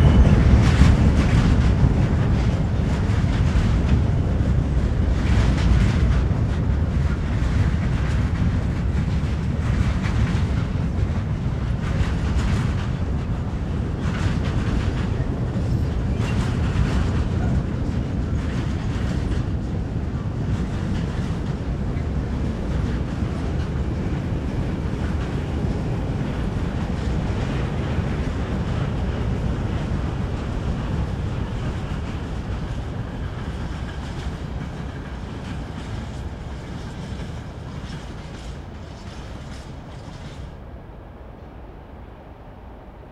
train sounds 0.0 - 43.1

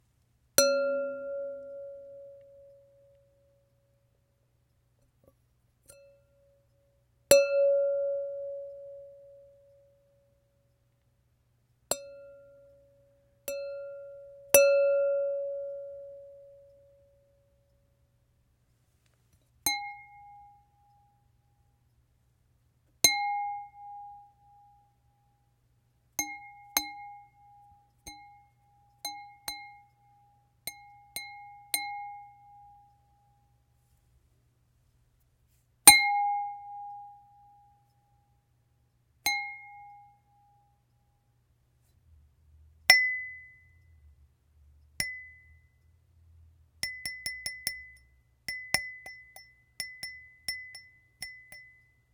Wine glass tinkles 0.6 - 2.9
Wine glass tinkles 13.5 - 17.2
Wine glass tinkles 19.7 - 21.1
Wine glass tinkles 26.2 - 33.0
Wine glass tinkles 39.3 - 40.3
Wine glass tinkles 42.9 - 43.9
Wine glass tinkles 45.0 - 45.8
Wine glass tinkles 46.8 - 52.1

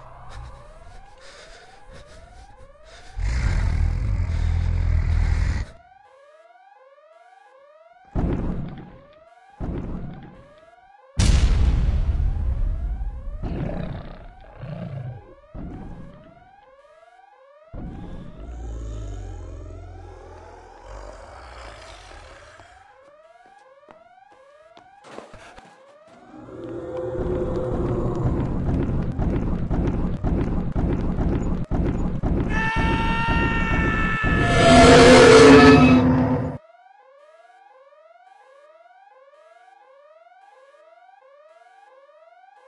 Monster Attack 33.8 - 36.6

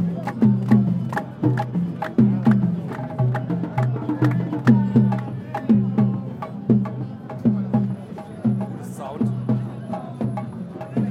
street musicians 0.0 - 11.1

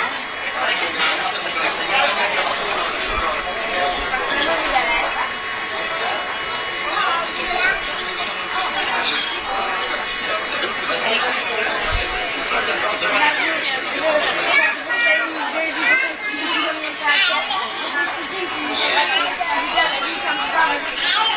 voices 0.0 - 21.3

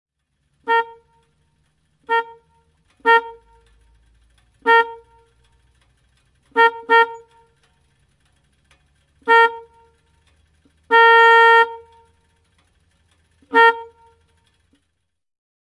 A motorbike, signal, various signals 0.5 - 4.0
A motorbike, signal, various signals 4.6 - 5.4
A motorbike, signal, various signals 6.5 - 7.7
A motorbike, signal, various signals 9.2 - 10.1
A motorbike, signal, various signals 10.8 - 12.4
A motorbike, signal, various signals 13.4 - 14.6

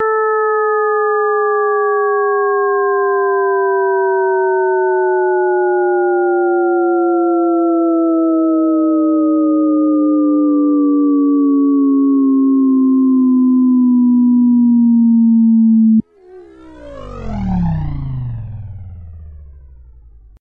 tone 16.2 - 20.3

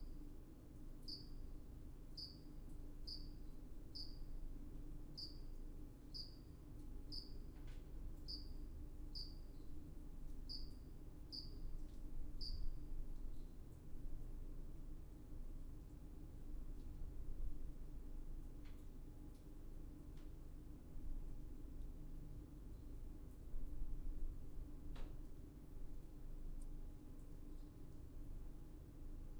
rhythmic crickets 1.0 - 1.4
rhythmic crickets 2.2 - 4.3
rhythmic crickets 5.2 - 5.5
rhythmic crickets 6.1 - 6.5
rhythmic crickets 7.1 - 7.4
rhythmic crickets 8.3 - 9.7
rhythmic crickets 10.5 - 11.6
rhythmic crickets 12.4 - 12.7

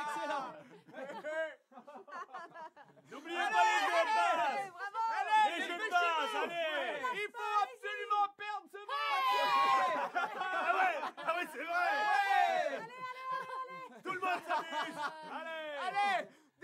crowd cheering at a sporting event 0.0 - 0.6
crowd cheering at a sporting event 3.1 - 8.2
crowd cheering at a sporting event 8.8 - 13.2

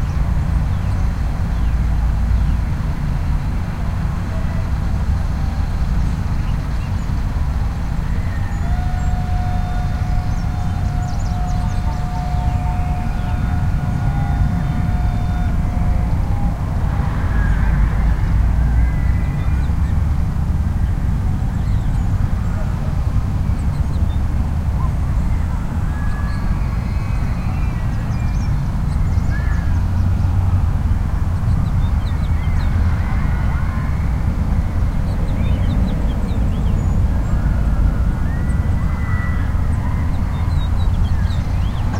birdsong 0.0 - 41.9
slight breeze 0.0 - 41.9
traffic (auto and train) 0.0 - 41.9
screams 7.9 - 19.9
screams 31.9 - 35.8

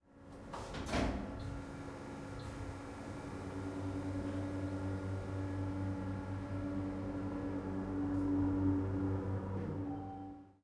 elevator travel 0.4 - 10.6

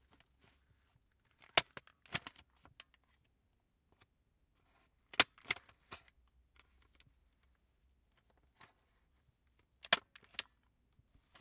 Stapling papers with a metal stapler 5.1 - 5.7

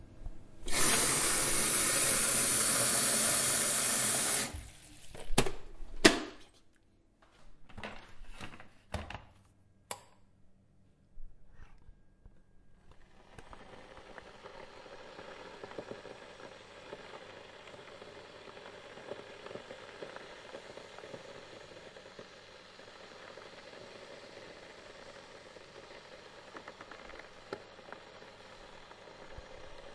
boiling water 0.6 - 5.2
boiling water 12.9 - 29.9

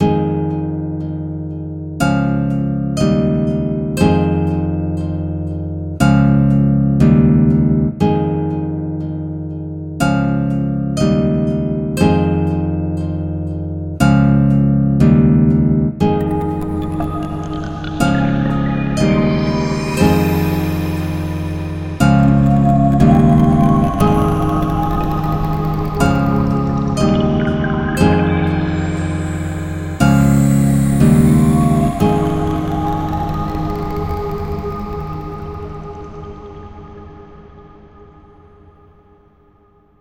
4 bit pad 16.1 - 37.4
lsd waves 16.1 - 38.0

